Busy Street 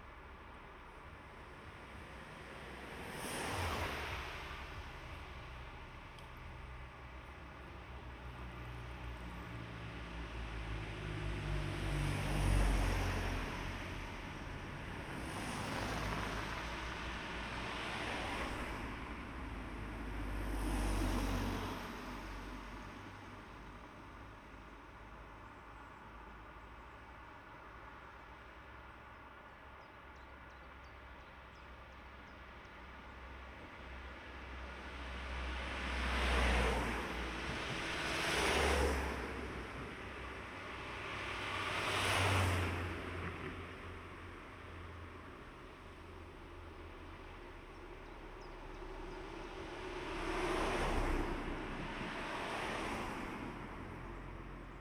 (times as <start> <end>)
33.6 45.4